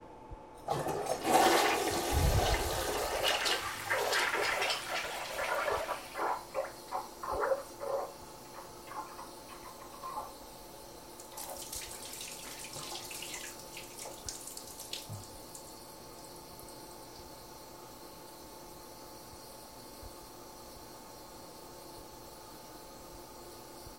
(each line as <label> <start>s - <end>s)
toilet being clogged and overflowing onto the floor 0.6s - 10.5s
flushing 0.6s - 15.9s
toilet being clogged and overflowing onto the floor 11.1s - 16.8s